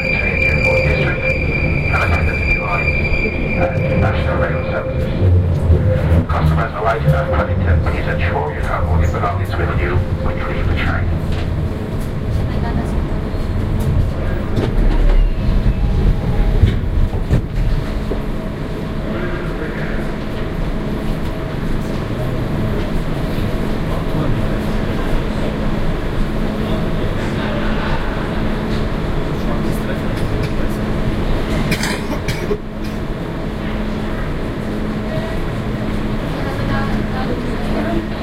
announcement 0:00.0 - 0:13.3
train 0:00.0 - 0:38.2

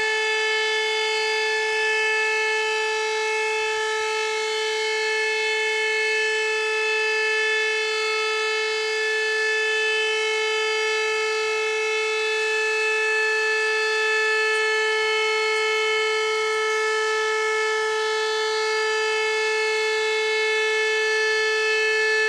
sirens thru my window 0:00.0 - 0:22.2

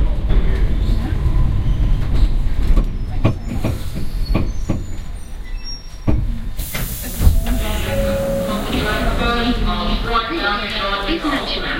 Announcement the station is closed 0:06.6 - 0:11.7

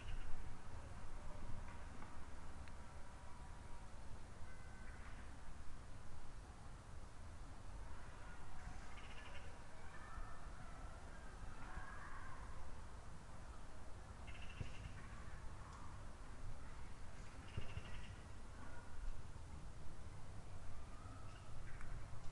birds in the distance 0:00.0 - 0:02.0
childrens in the distance 0:00.0 - 0:05.6
birds in the distance 0:04.4 - 0:05.4
childrens in the distance 0:07.5 - 0:22.3
birds in the distance 0:07.9 - 0:12.8
birds in the distance 0:13.4 - 0:22.3

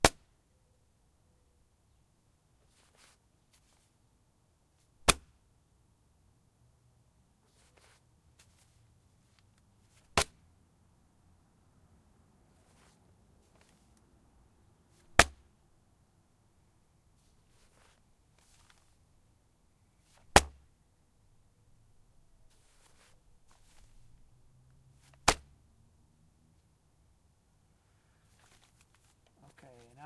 tossing a small package of newspapers onto a porch 0:12.5 - 0:14.0
tossing a small package of newspapers onto a porch 0:17.2 - 0:19.0
tossing a small package of newspapers onto a porch 0:22.5 - 0:24.0
tossing a small package of newspapers onto a porch 0:25.0 - 0:25.5
tossing a small package of newspapers onto a porch 0:28.2 - 0:30.0

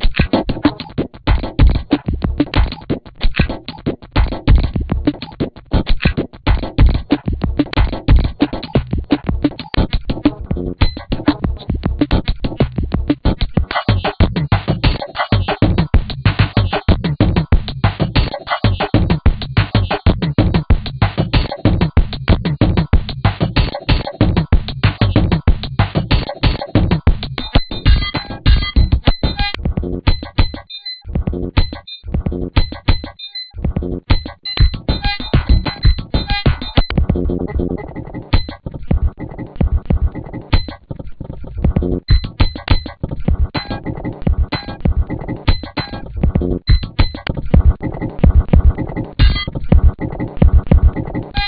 glitch 0:26.0 - 0:51.4

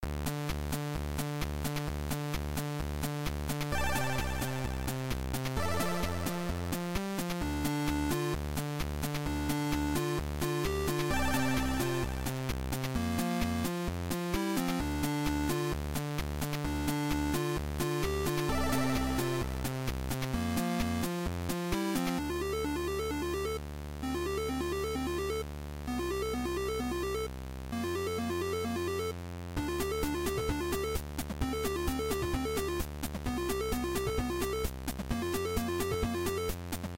chiptune 0:00.1 - 0:36.9

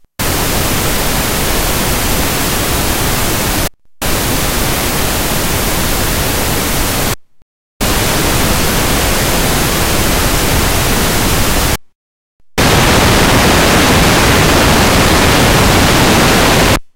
noise pink-40 100 filt dist 0:00.0 - 0:07.2
noise pink-40 100 filt dist 0:07.8 - 0:11.8
noise pink-40 100 filt dist 0:12.5 - 0:16.9

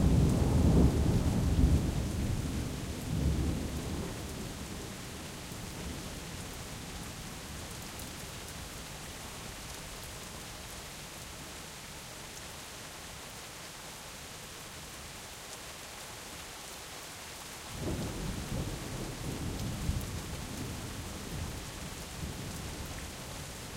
Nonstop Thunder 0:00.0 - 0:04.9
rain 0:00.0 - 0:23.7

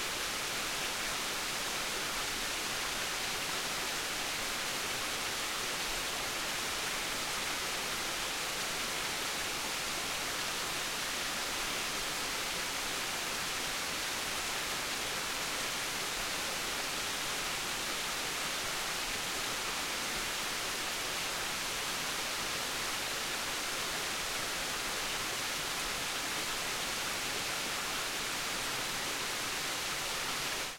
Small stream 0:00.0 - 0:30.7

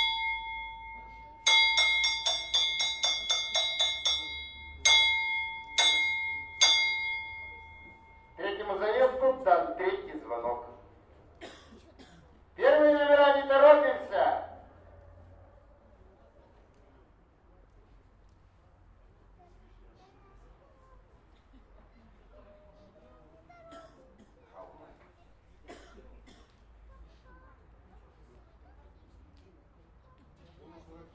bell 0:00.0 - 0:08.6
announcer 0:00.0 - 0:10.8

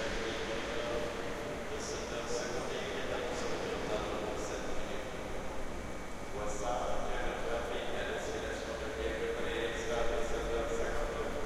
trains letting off compressed air 0:00.0 - 0:02.5
trains arriving and departing 0:00.0 - 0:05.5
passenger announcement 0:00.0 - 0:05.7
passengers passing by can be heard speaking 0:00.0 - 0:11.4

